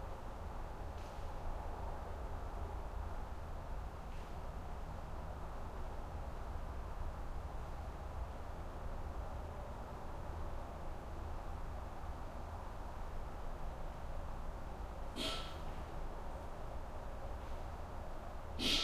heavy distant highway 0.0 - 18.8

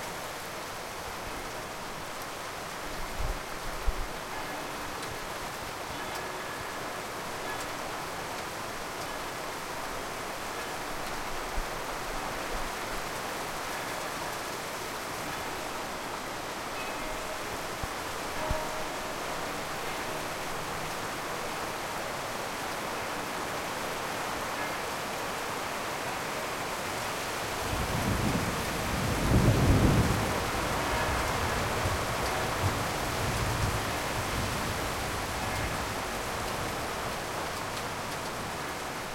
rain 0.0 - 39.1
bells 14.9 - 22.2

